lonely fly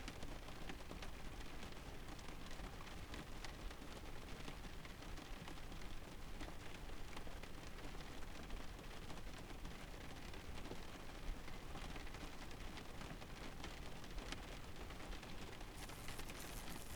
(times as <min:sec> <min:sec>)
0:15.8 0:16.9